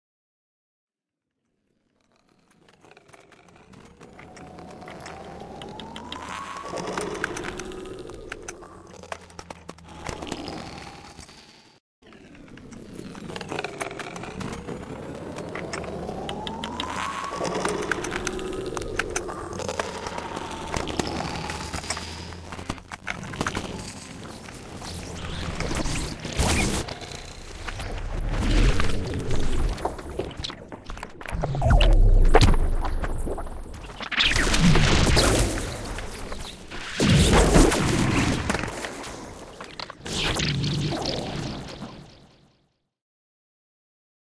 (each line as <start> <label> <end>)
27.7 feedback 36.7